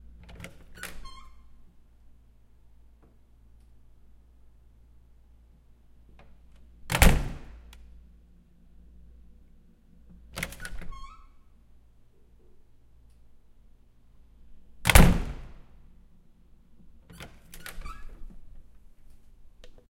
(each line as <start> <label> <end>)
0.2 wooden door opening and closing 1.5
0.7 creak 1.5
6.3 wooden door opening and closing 7.6
10.3 wooden door opening and closing 11.4
10.6 creak 11.4
14.8 wooden door opening and closing 15.6
17.1 wooden door opening and closing 18.6
17.1 creak 18.3